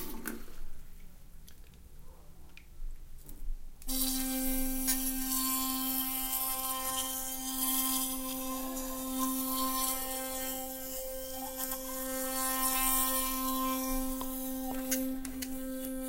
brushing my teeth with a sonicare electric toothbrush 0:03.9 - 0:16.0

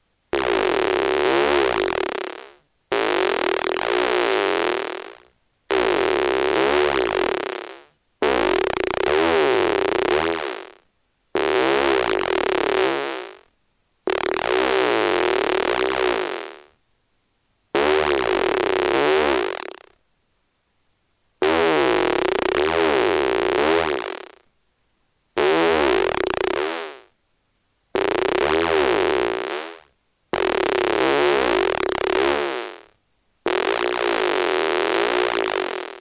squelching farting sounds 0:00.3 - 0:10.8
squelching farting sounds 0:11.4 - 0:13.5
squelching farting sounds 0:14.1 - 0:16.7
squelching farting sounds 0:17.8 - 0:20.0
squelching farting sounds 0:21.4 - 0:24.4
squelching farting sounds 0:25.4 - 0:27.1
squelching farting sounds 0:28.0 - 0:32.9
squelching farting sounds 0:33.5 - 0:36.0

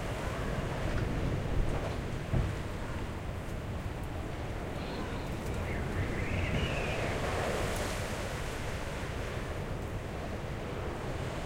wind 0:00.0 - 0:11.4

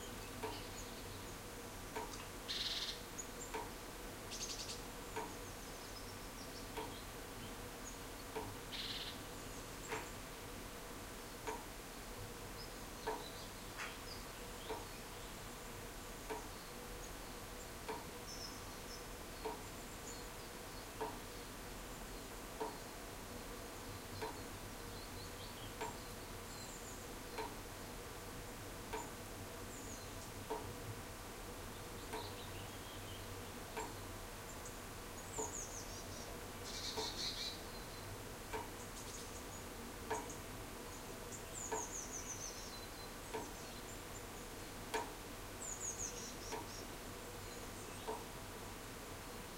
birds singing 0:00.0 - 0:03.7
birds singing 0:04.3 - 0:10.3
drops of water falling rhythmically from a roof 0:11.4 - 0:11.8
birds singing 0:12.5 - 0:23.0
drops of water falling rhythmically from a roof 0:19.3 - 0:19.8
drops of water falling rhythmically from a roof 0:20.8 - 0:21.4
birds singing 0:23.7 - 0:27.6
drops of water falling rhythmically from a roof 0:28.8 - 0:29.4
birds singing 0:28.9 - 0:30.5
birds singing 0:31.7 - 0:48.3
drops of water falling rhythmically from a roof 0:33.6 - 0:35.6
drops of water falling rhythmically from a roof 0:38.4 - 0:38.8
drops of water falling rhythmically from a roof 0:43.2 - 0:43.6
drops of water falling rhythmically from a roof 0:44.7 - 0:45.5

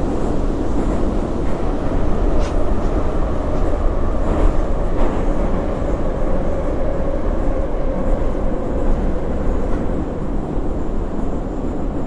subway ride 0:00.0 - 0:12.0

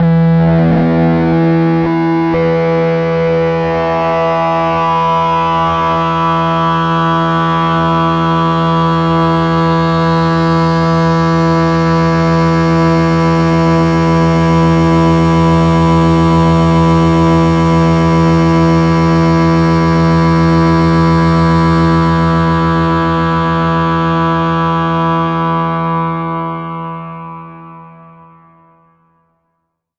hard distorted sound with a filter sweep 0:00.0 - 0:28.0

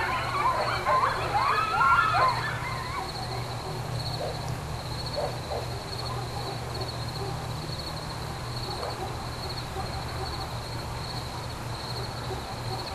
distant siren 0:00.0 - 0:04.5
reacting dogs 0:00.0 - 0:04.5
coyotes barking and howling 0:00.0 - 0:12.9
crickets 0:00.0 - 0:12.9
reacting dogs 0:05.1 - 0:07.7
reacting dogs 0:08.6 - 0:10.6
reacting dogs 0:11.8 - 0:12.9

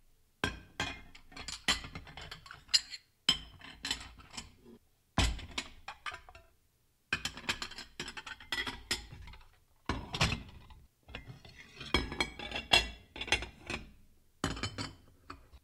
dishes and silverware clinking 0:00.4 - 0:04.5
dishes and silverware clinking 0:11.1 - 0:15.4

